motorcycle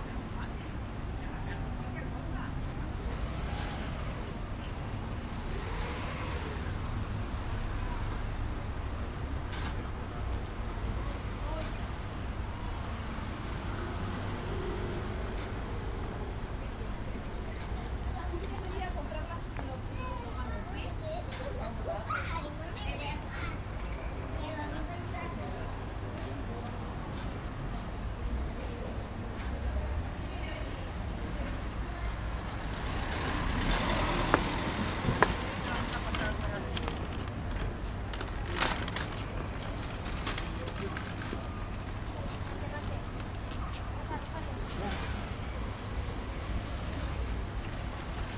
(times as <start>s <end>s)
5.0s 9.8s